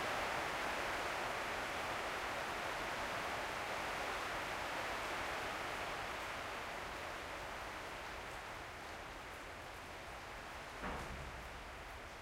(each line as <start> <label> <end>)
0.0 Rain on Corrugated Iron 12.2
10.6 gate high in the entrance clangs with the wind 12.2